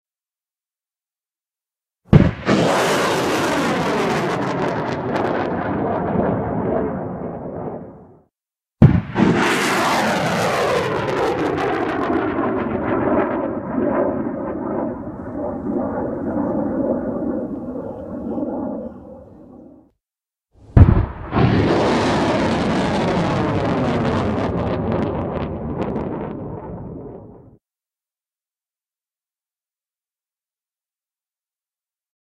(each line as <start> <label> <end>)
2.1 Rocket Launch 19.9
20.6 Rocket Launch 27.6